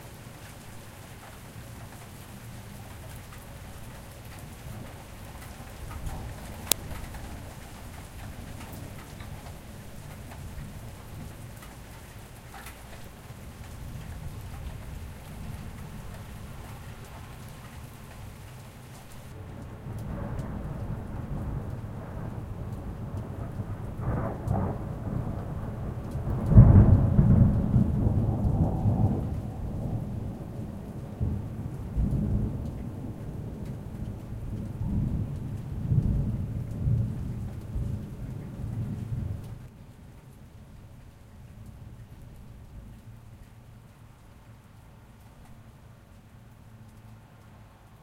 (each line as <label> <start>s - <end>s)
rain 0.0s - 48.0s
Thunder claps 12.5s - 39.6s